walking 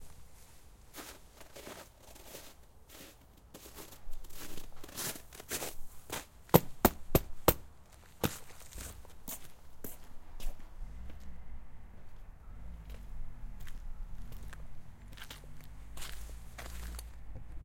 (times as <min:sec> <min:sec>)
0:07.8 0:17.6